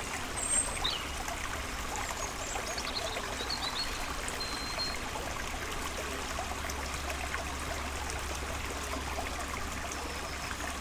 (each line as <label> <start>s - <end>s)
river 0.0s - 10.8s